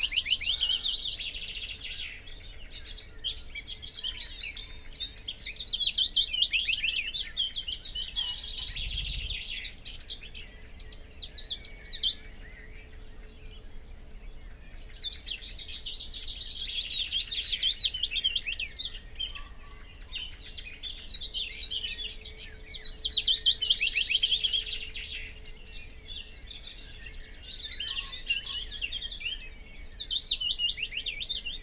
Willow warbler song and call 0:00.0 - 0:31.6
background noise 0:00.0 - 0:31.6
blackbird 0:00.0 - 0:31.6
common pheasant 0:00.0 - 0:31.6
garden warbler 0:00.0 - 0:31.6
crow 0:00.0 - 0:01.1
crow 0:08.1 - 0:08.9

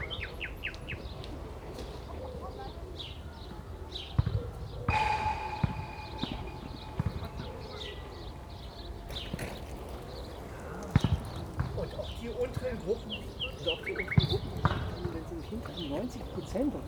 Nightingales 0:00.0 - 0:16.8
footballs striking the fence 0:04.2 - 0:16.8

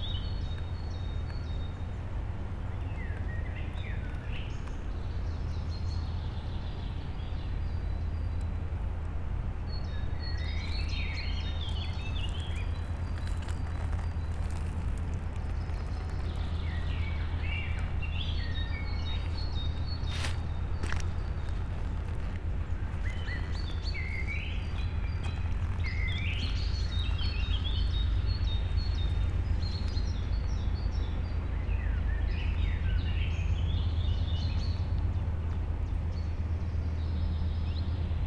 almost inaudible stream 0:08.4 - 0:31.5

